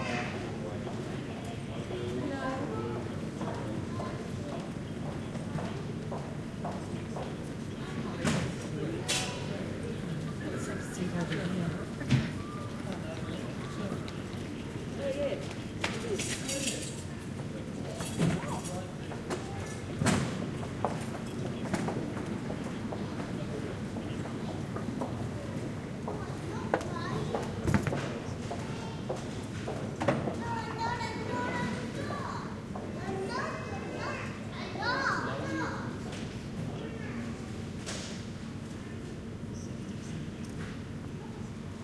crowd 0:00.0 - 0:41.8

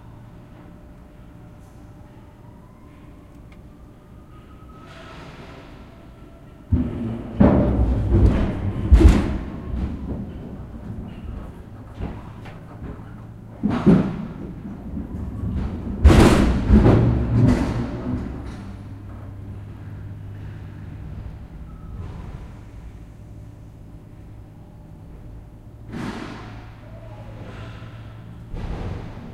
Noise made by forklift 0:00.0 - 0:29.3
banging 0:06.7 - 0:23.0
typical for forklifts hiss 0:25.8 - 0:26.8
typical for forklifts hiss 0:27.4 - 0:28.4

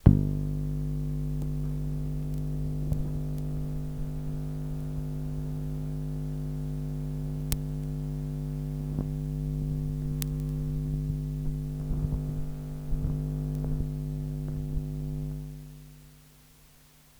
switch turning it on 0:00.0 - 0:15.6
Electromagnetic field recording of a Polytone Mini-Brute Guitar amplifier 0:00.0 - 0:17.1

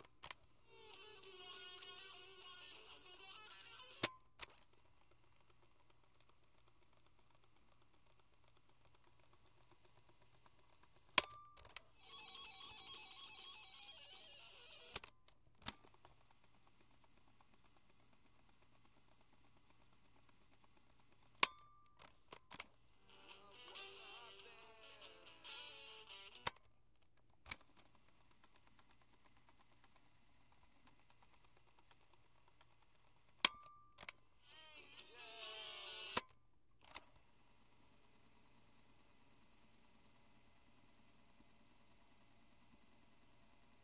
handheld cassette player 0:00.0 - 0:37.2

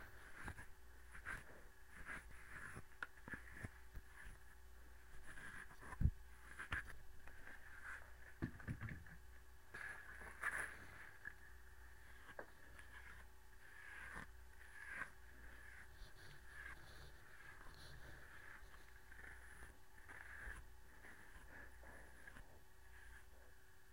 comb 0:00.0 - 0:23.9

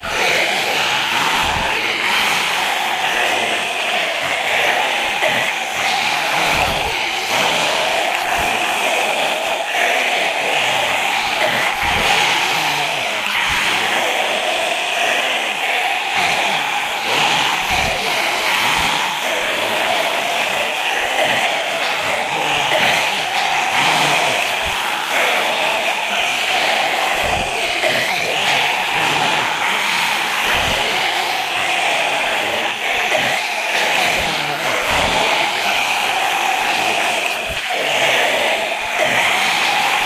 group of about 10 zombies 0:00.0 - 0:40.0

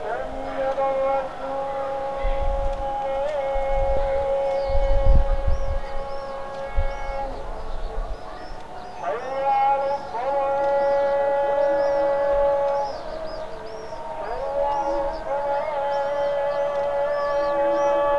mosques giving the evening call to prayer 0:00.0 - 0:18.1

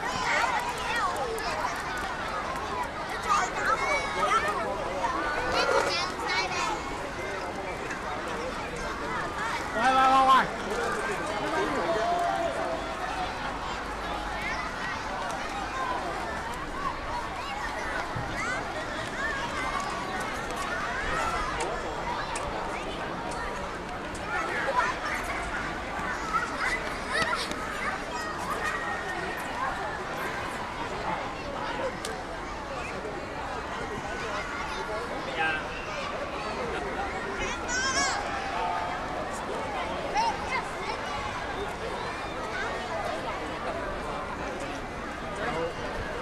people chatting 0:00.0 - 0:46.2
children laughing 0:26.5 - 0:27.8

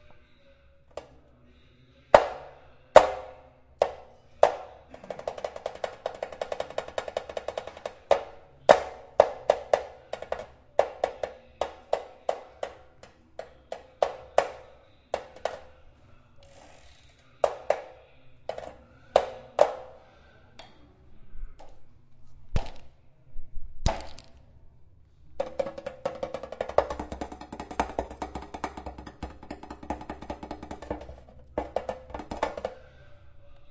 Human Bike Sound 0:16.4 - 0:18.0

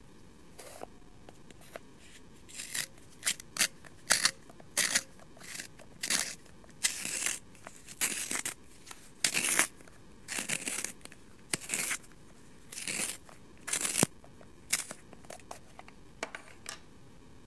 Sharpening a pencil with a hand sharpener 0:02.5 - 0:08.6
Sharpening a pencil with a hand sharpener 0:09.2 - 0:12.1
Sharpening a pencil with a hand sharpener 0:12.7 - 0:14.1
Sharpening a pencil with a hand sharpener 0:14.7 - 0:15.5

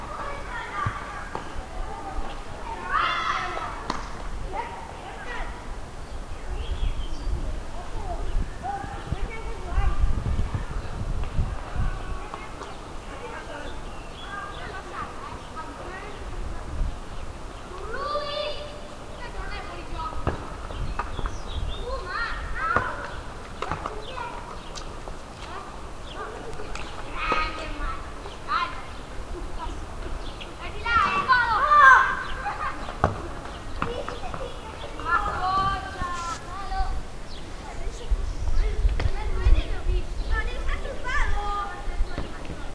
kids playing football on a cobbled street 0:00.0 - 0:42.7

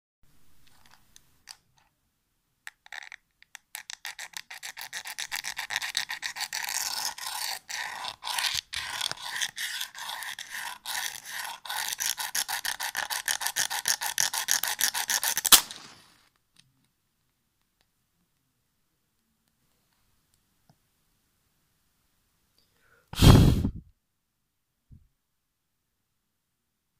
match being struck against its box 0:03.8 - 0:16.1
quick puff as the match is extinguished 0:15.5 - 0:16.2
quick puff as the match is extinguished 0:23.2 - 0:23.8

